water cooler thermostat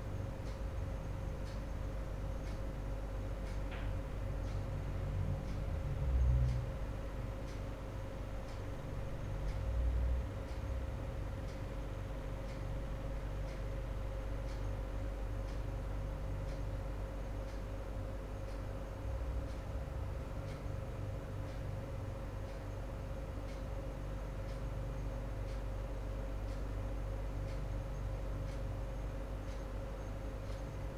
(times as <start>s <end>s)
7.0s 30.9s